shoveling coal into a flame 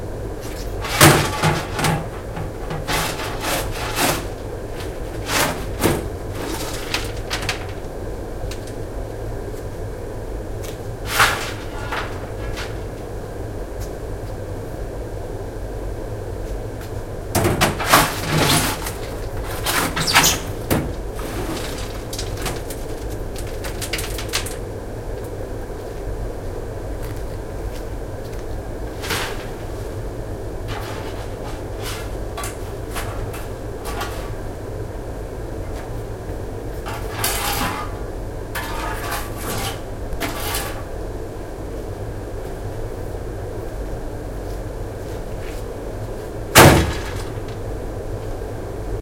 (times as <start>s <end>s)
0.6s 7.2s, 11.0s 12.9s, 30.7s 34.4s, 36.8s 38.0s, 38.6s 40.8s